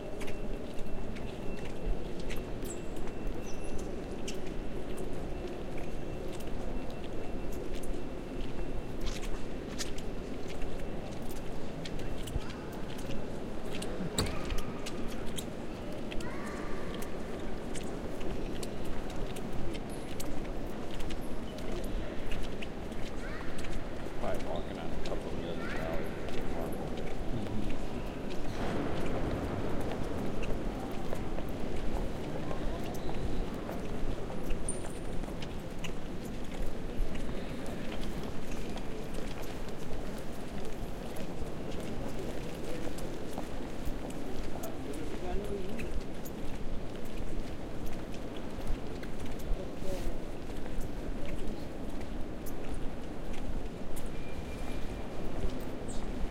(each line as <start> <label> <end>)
0.1 squeaky wet shoes on the marble floor 29.2
29.8 squeaky wet shoes on the marble floor 56.2